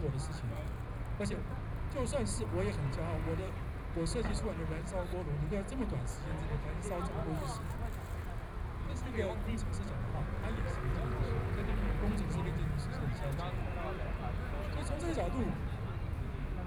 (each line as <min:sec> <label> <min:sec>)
0:00.0 People and students occupied the Legislature 0:16.6
0:00.0 Traffic Sound 0:16.6
0:00.0 Walking through the site in protest 0:16.6